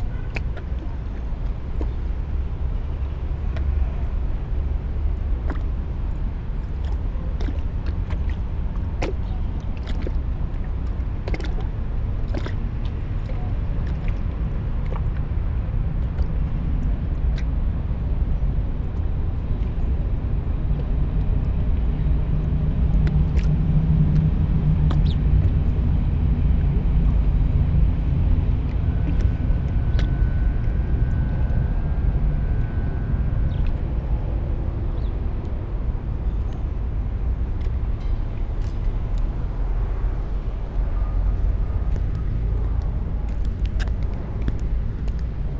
lapping waves 0:00.0 - 0:16.2
S-bahn 0:00.0 - 0:45.5
lapping waves 0:32.1 - 0:45.5
walking 0:38.4 - 0:45.5
clogs 0:38.5 - 0:45.5

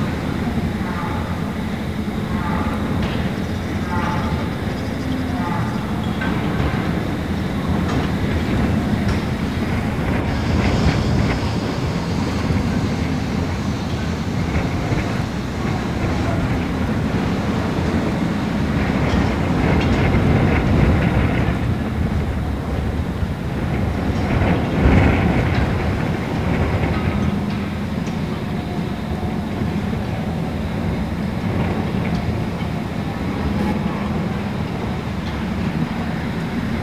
startled birds 0:00.0 - 0:11.3
Windstorm rattled cages 0:00.0 - 0:36.8
ventilation turbines 0:00.0 - 0:36.8

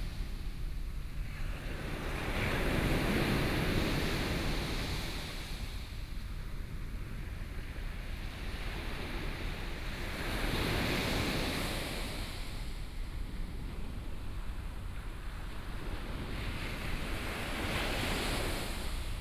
waves 0:08.2 - 0:19.2

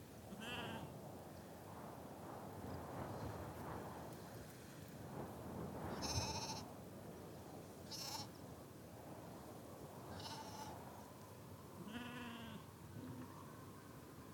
wind 0:00.0 - 0:14.3

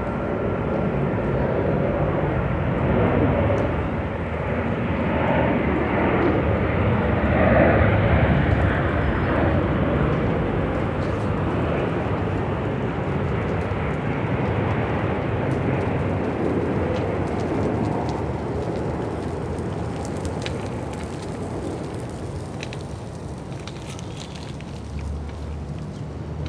airplane 0:00.0 - 0:26.4
passers-by 0:00.0 - 0:26.4

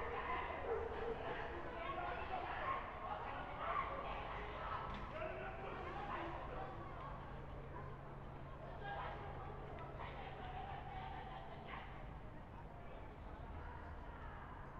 dogs 0:00.0 - 0:01.6

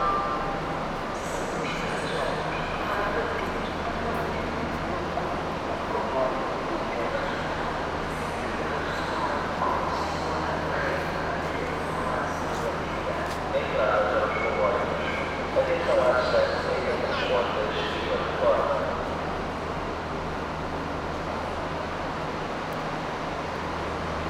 locals and tourists 0:00.0 - 0:24.1
trains 0:00.0 - 0:24.2

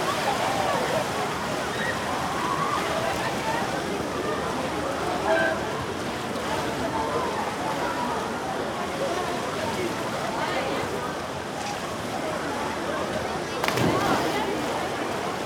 people swimming 0:00.0 - 0:15.4
voices 0:13.0 - 0:15.4
water sounds 0:13.5 - 0:15.4
splash 0:13.6 - 0:15.4

